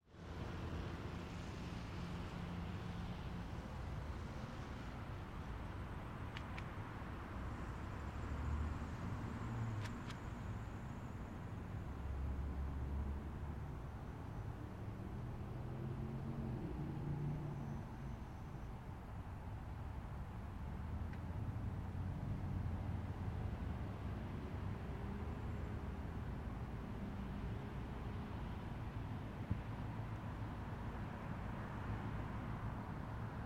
light traffic 0.0 - 33.4
truck 0.0 - 33.4
rain 0.2 - 13.8

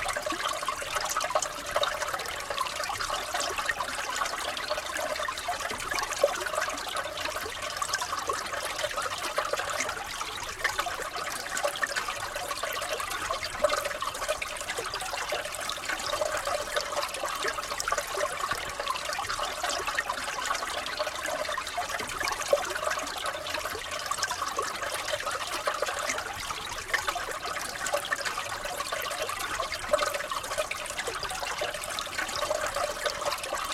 Brook trickling in a frozen bed 0.0 - 33.7

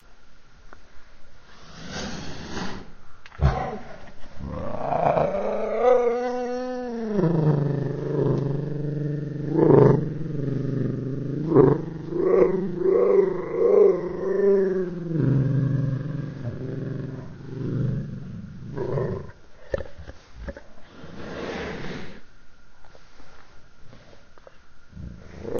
cat growling and slowed down 3.4 - 21.4

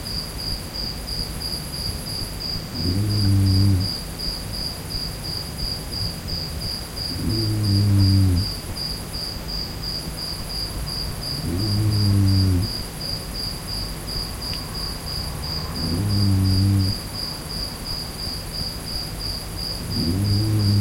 crickets 0.0 - 20.8
white noise 0.0 - 20.8
snoring 2.7 - 4.0
snoring 5.4 - 8.6
snoring 11.4 - 12.9
snoring 14.8 - 17.2
snoring 19.7 - 20.8

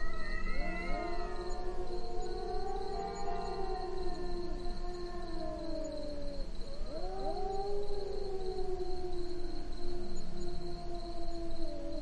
Two cats cry 0.0 - 9.5

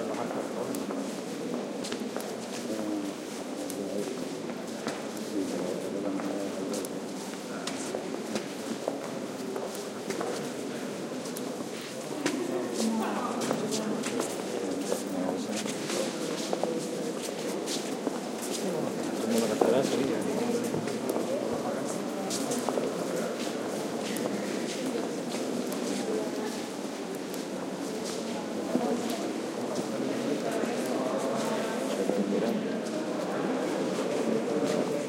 talk 0.0 - 35.0

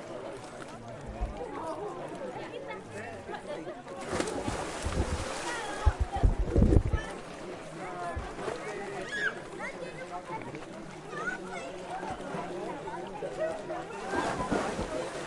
Water 0.0 - 15.2
Splash 3.9 - 10.8
People enjoying 7.8 - 15.2
Splash 13.3 - 15.2

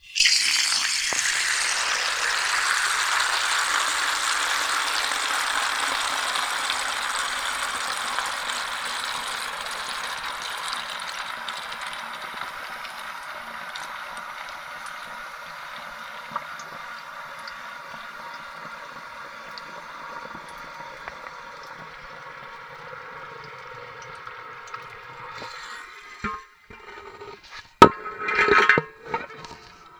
Water quickly filling a giant metal thermos 0.0 - 29.9

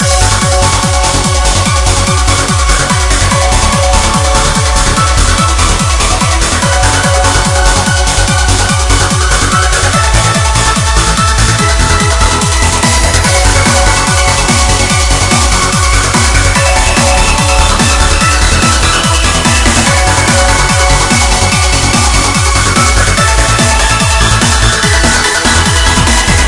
bass 0.0 - 26.4
lead 0.0 - 26.4

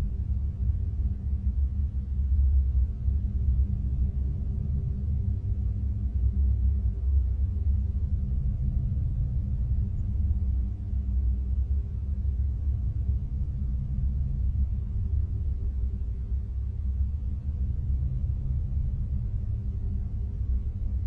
Space Pad Low and Long 0.0 - 21.0

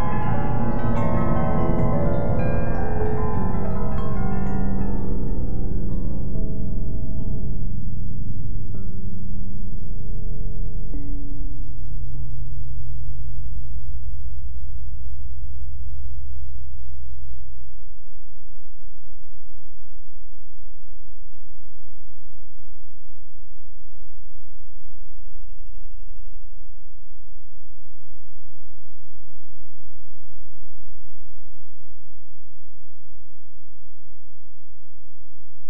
weird shimmer noise 0.0 - 7.7
electric piano 0.0 - 12.6

